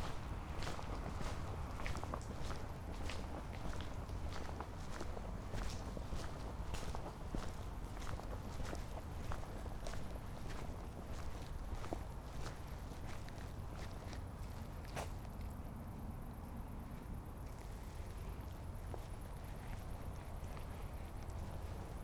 almost silent river 0.0 - 22.0

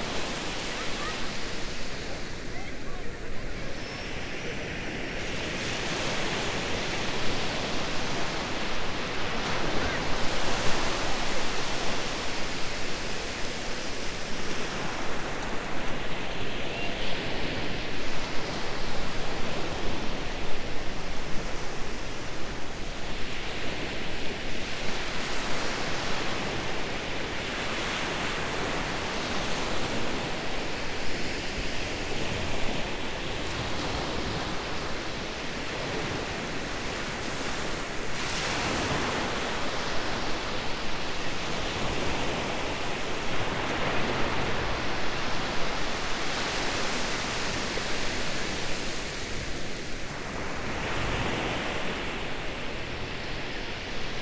Gentle ocean surf 0.0 - 54.2

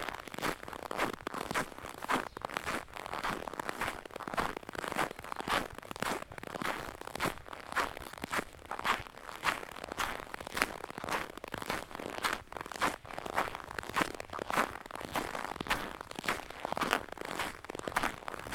people walking on the winter path 0.0 - 18.5

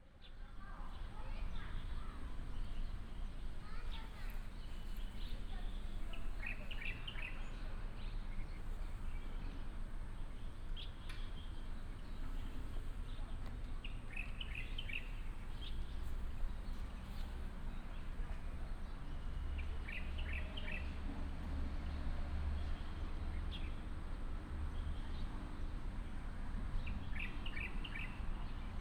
birds sound 0.2 - 21.0
birds sound 26.8 - 28.8

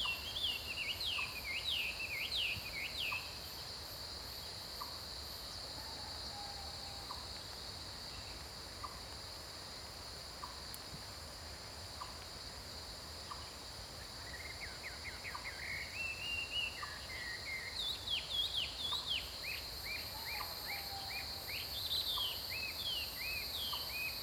Cicada sounds 16.8 - 24.2

